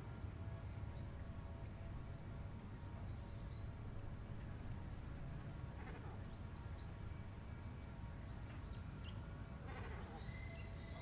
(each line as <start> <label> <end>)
0.0 paddle wheel steamers 11.0
8.2 other birds 11.0
9.7 Crows 11.0